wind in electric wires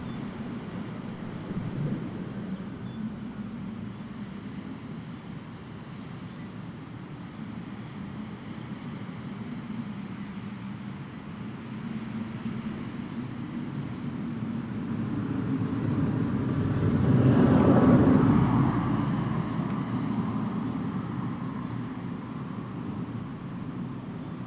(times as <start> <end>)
0.0 6.2